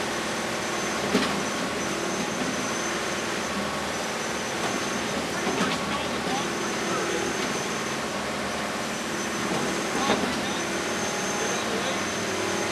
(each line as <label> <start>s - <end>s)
Construction saw 0.0s - 12.7s